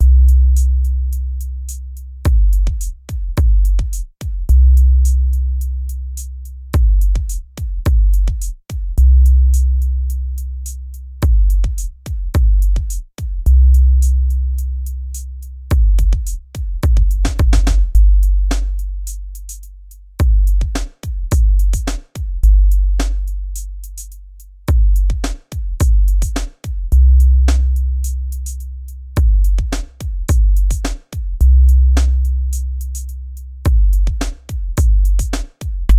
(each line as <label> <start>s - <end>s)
drum 2.3s - 4.5s
drum 6.8s - 9.0s
drum 11.2s - 13.5s
drum 15.7s - 24.1s
drum 24.7s - 28.6s
drum 29.2s - 33.1s
drum 33.7s - 35.9s